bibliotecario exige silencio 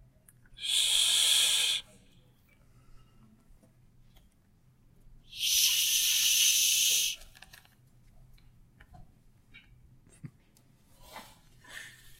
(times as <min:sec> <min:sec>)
0:00.6 0:01.8, 0:05.3 0:07.3